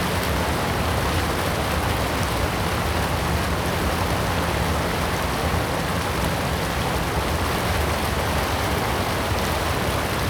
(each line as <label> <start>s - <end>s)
Weir, stream 3.3s - 10.2s